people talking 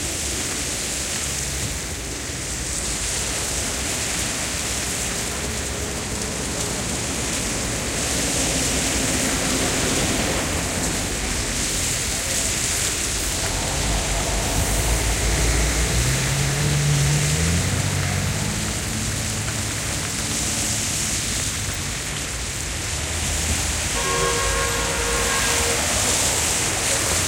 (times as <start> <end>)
9.4 19.1, 24.0 27.2